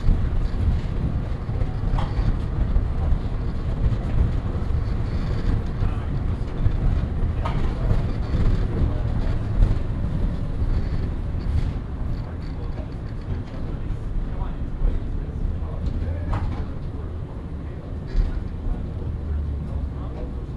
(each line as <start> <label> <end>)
0.0 really shaky tram ride 20.5